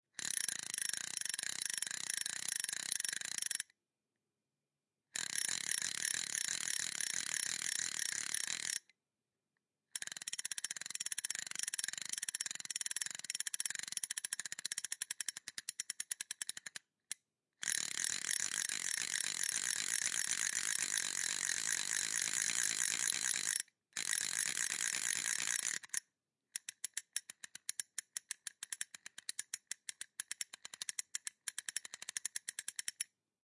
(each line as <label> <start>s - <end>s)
Spinning reel 0.2s - 3.6s
Spinning reel 5.2s - 8.8s
Spinning reel 10.0s - 16.7s
Spinning reel 17.6s - 26.0s
Spinning reel 26.6s - 33.1s